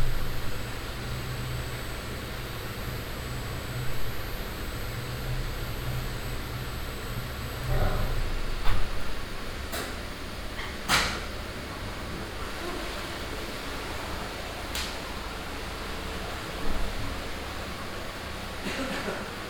machines 0:00.0 - 0:19.4

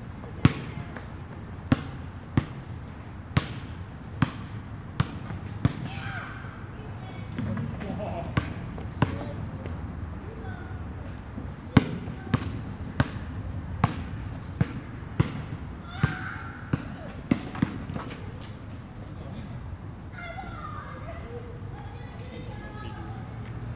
Two guys play basketball 0:00.3 - 0:19.5
children playing 0:05.8 - 0:08.4
birds singing 0:08.5 - 0:09.4
birds singing 0:13.9 - 0:14.7
children playing 0:15.8 - 0:19.2
birds singing 0:17.5 - 0:19.7
children playing 0:20.1 - 0:23.6

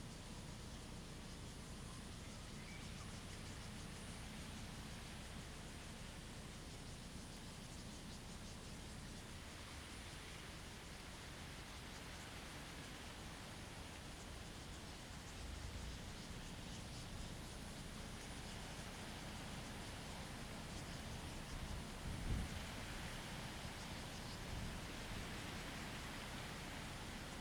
wind and leaves 0:00.0 - 0:27.4

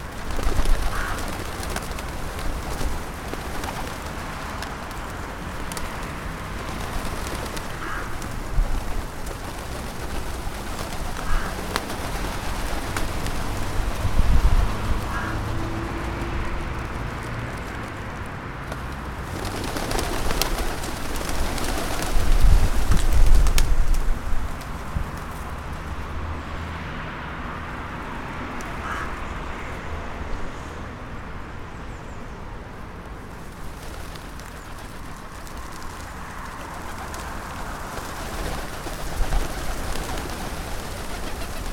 city traffic sounds 0:00.0 - 0:41.7
Feeding the pigeons 0:00.0 - 0:14.1
Feeding the pigeons 0:14.7 - 0:22.2
Feeding the pigeons 0:33.3 - 0:41.7

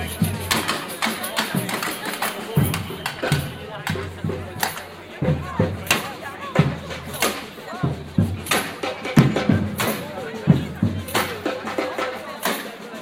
samba group 0:00.0 - 0:13.0

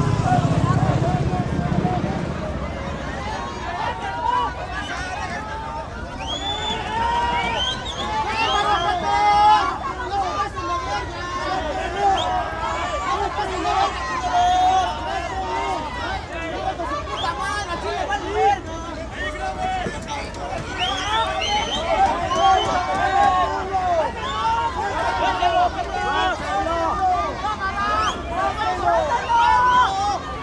Confrontation between the crowd and the police 0:00.0 - 0:30.4

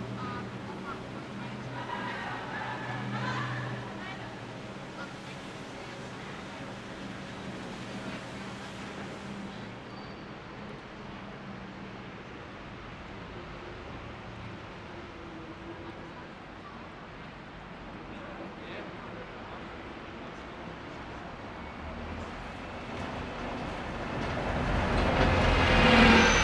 buses 0:00.0 - 0:26.4

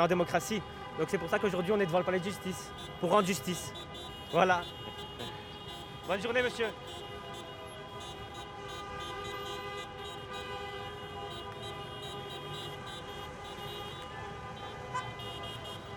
Voice in the megaphone 0:00.0 - 0:06.9
Multiple taxi cars 0:00.0 - 0:15.9
horns 0:00.0 - 0:15.9

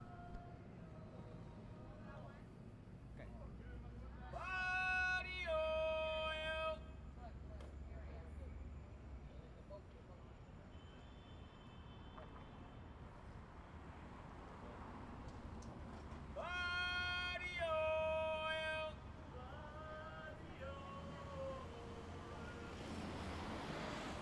body-oil man calling 0:04.4 - 0:06.9
body-oil man calling 0:16.4 - 0:18.9

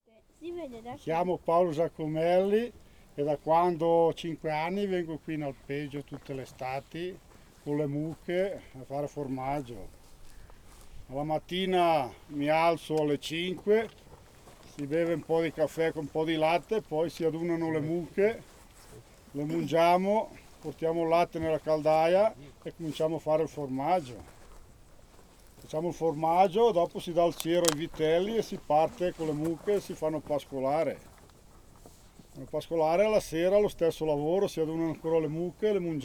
shepherd presentation 0:00.4 - 0:10.0
shepherd presentation 0:11.1 - 0:14.0
shepherd presentation 0:14.6 - 0:18.6
shepherd presentation 0:19.3 - 0:24.4
shepherd presentation 0:25.6 - 0:31.1

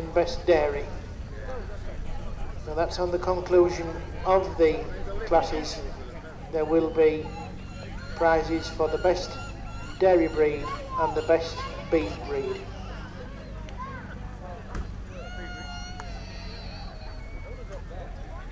public address system 0:00.0 - 0:12.7
voices 0:00.0 - 0:18.5

